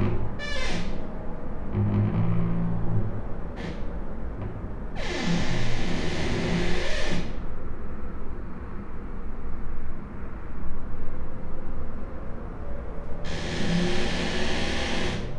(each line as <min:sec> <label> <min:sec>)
0:00.0 creaky lullaby 0:07.4
0:00.0 traffic noise 0:15.3
0:00.0 wind 0:15.3
0:13.2 creaky lullaby 0:15.3